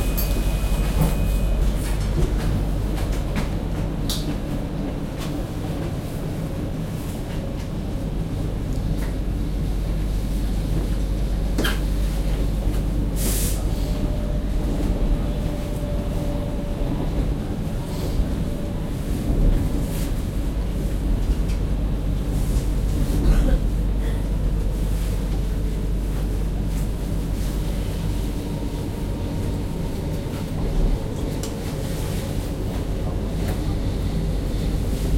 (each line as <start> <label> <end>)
0.0 local train stops 35.1